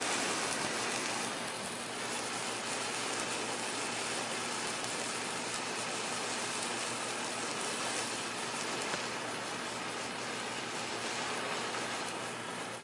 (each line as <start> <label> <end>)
0.0 road flare burning 12.8